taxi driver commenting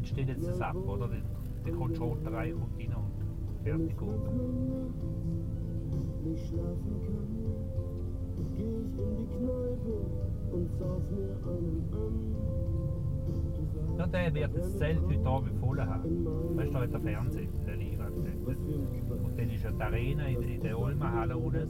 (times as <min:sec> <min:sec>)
0:00.0 0:04.8, 0:14.0 0:21.6